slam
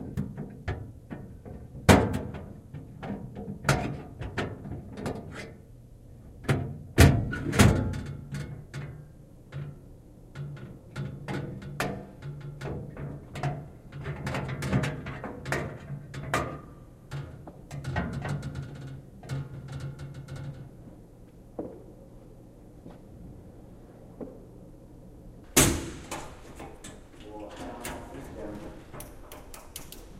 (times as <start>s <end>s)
25.6s 26.4s